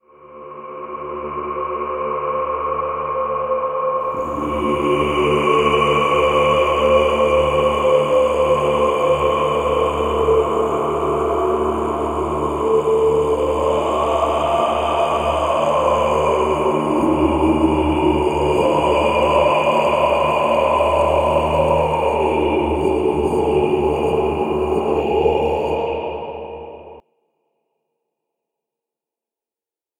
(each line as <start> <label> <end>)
0.0 Mongolian drone chant 27.0